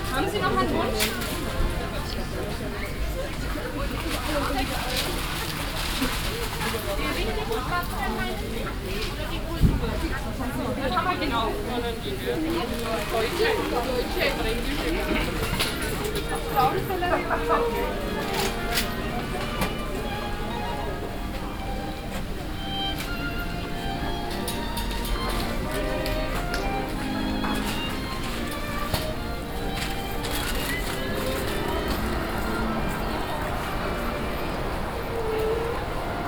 street musicians 0:00.0 - 0:36.2
walking on the market 0:00.0 - 0:36.2

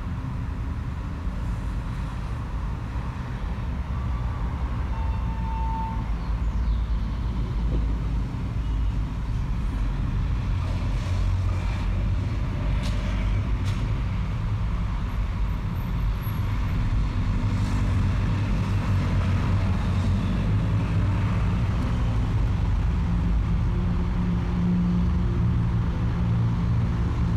passing cars 0:00.0 - 0:27.3
passing trucks 0:00.0 - 0:27.3
wind 0:00.0 - 0:27.3

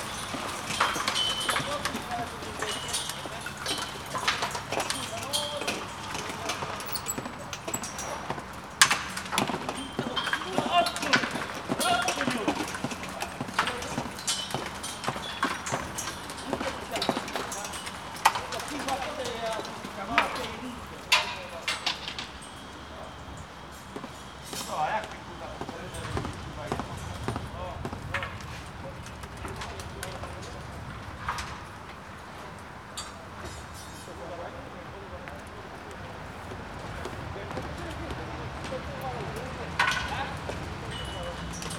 workers shouting at eachother 0:09.8 - 0:14.6

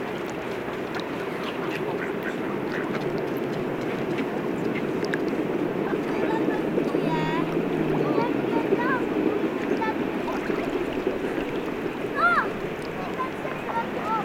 Ducks 0:00.9 - 0:06.6

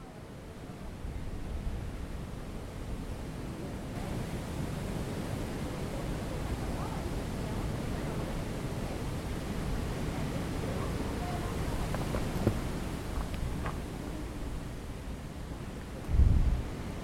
Wind and rubber bands 0:09.2 - 0:17.0

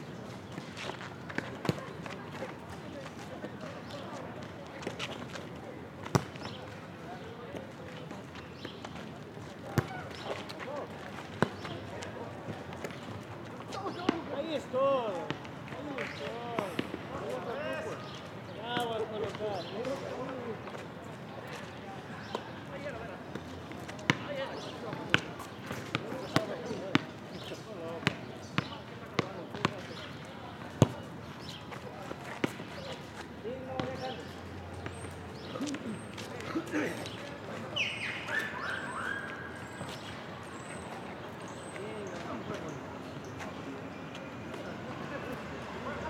volleyball match 0:09.6 - 0:14.4
volleyball match 0:22.2 - 0:31.6
volleyball match 0:34.8 - 0:42.2

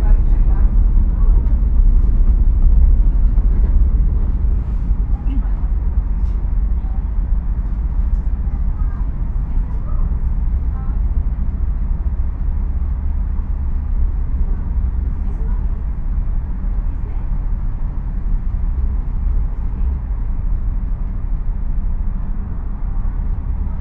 passengers leaving the train 0:00.0 - 0:23.8
train sounds 0:00.0 - 0:23.8
voices 0:03.2 - 0:11.8
voices 0:14.4 - 0:18.2

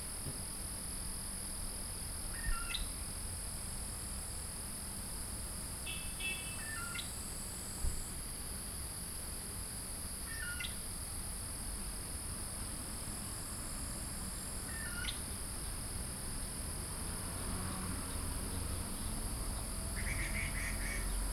Insects sounds 0:02.3 - 0:03.2
Insects sounds 0:05.7 - 0:21.3

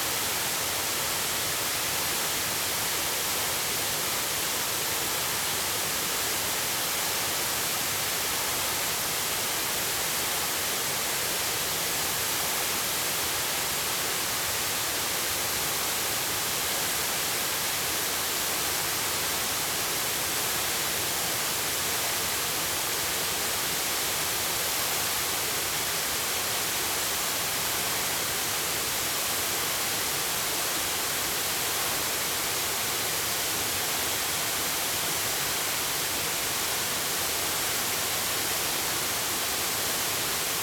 Waterfall 0:00.0 - 0:40.6

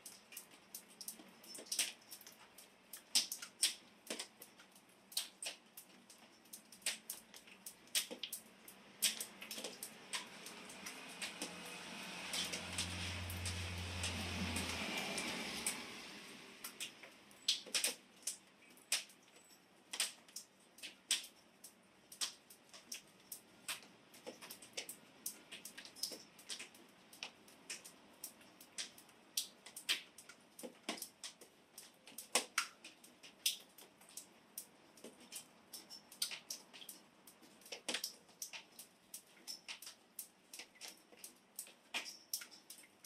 car passing by 0:09.9 - 0:17.3

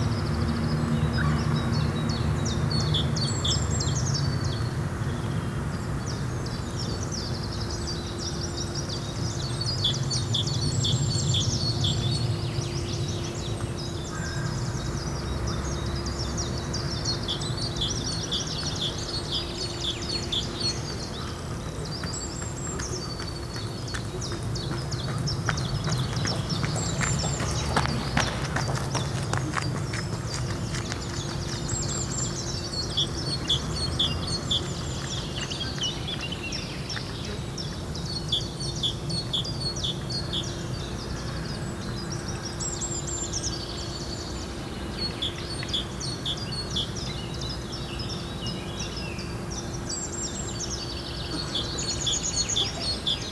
Birds near the bond 0:06.1 - 0:53.3
Joggers 0:22.0 - 0:32.1

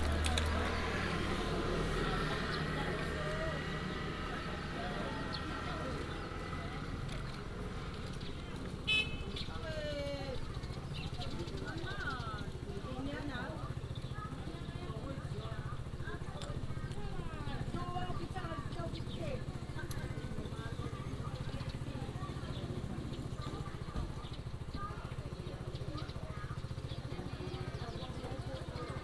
Residents gather to prepare for a ride 0:00.0 - 0:29.0
Traffic sound 0:00.0 - 0:29.0
birds sound 0:00.0 - 0:29.0

